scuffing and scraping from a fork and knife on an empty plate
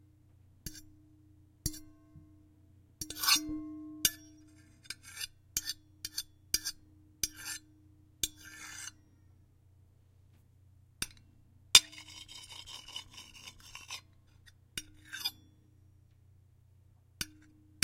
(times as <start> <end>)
11.8 15.4